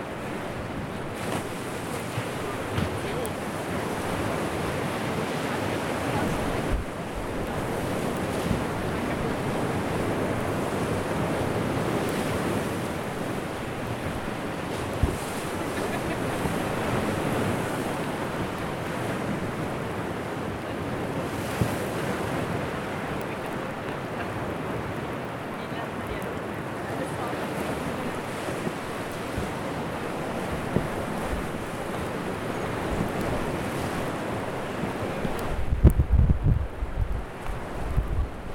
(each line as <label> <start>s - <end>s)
seawaves 0.0s - 38.5s
rain is starting to drop on the zoom recorder 17.8s - 38.5s